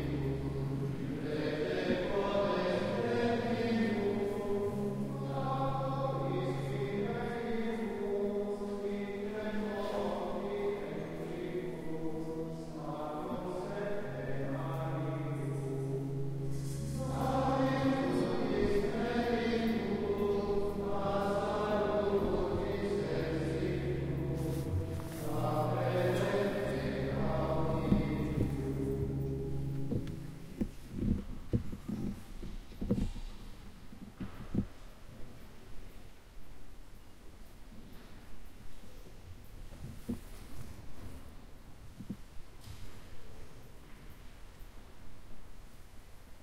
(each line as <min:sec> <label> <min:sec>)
0:00.0 echoy singing in a church 0:34.9